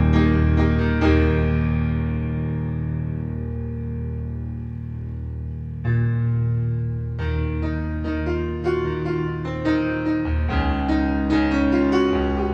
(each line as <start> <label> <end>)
0.0 piano 12.5